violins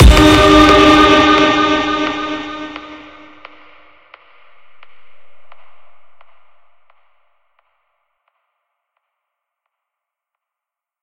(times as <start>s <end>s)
0.0s 3.4s